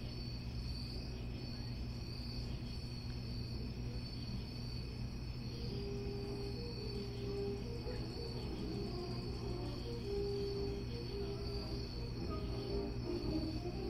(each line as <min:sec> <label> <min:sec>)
0:05.5 Saxophones rehearsing 0:13.8